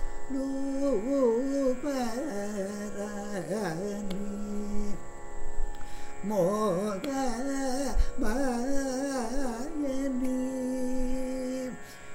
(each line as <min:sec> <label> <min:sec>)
0:00.0 Carnatic vocalist 0:12.1